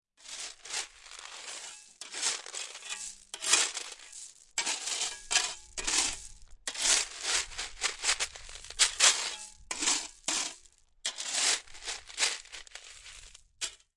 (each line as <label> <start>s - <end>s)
shovel 0.2s - 13.9s